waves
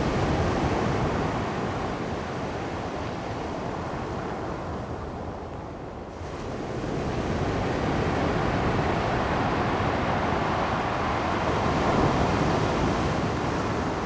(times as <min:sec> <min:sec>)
0:06.4 0:14.0